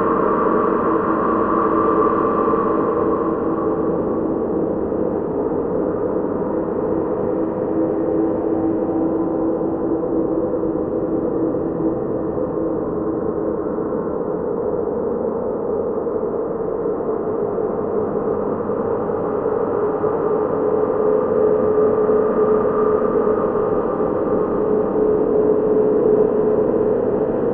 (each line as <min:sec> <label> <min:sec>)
0:00.0 slowly building dark space drone 0:27.5